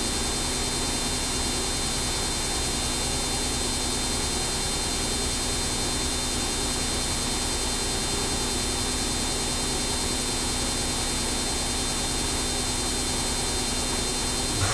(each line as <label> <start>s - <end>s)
Washing machine doing a spin cycle 0.0s - 14.7s